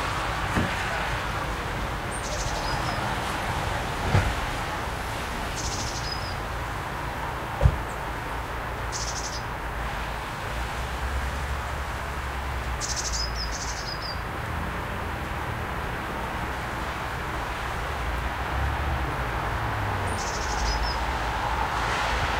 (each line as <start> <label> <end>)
0.0 Cars 22.3
2.0 Birds 3.4
5.4 Birds 6.5
8.8 Birds 9.5
12.7 Birds 14.3
20.0 Birds 21.3